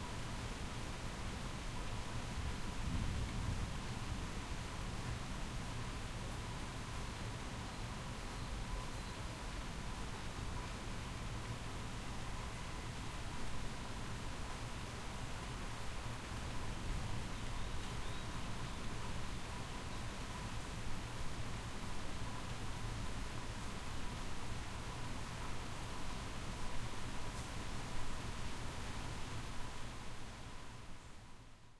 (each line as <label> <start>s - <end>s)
Heavy Rain in Distance 0.0s - 31.7s